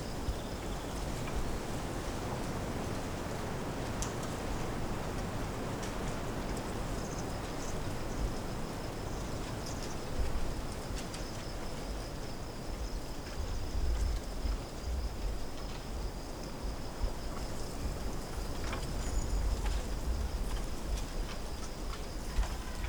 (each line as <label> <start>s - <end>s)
wind blowing on trees and branches moving 0.0s - 22.8s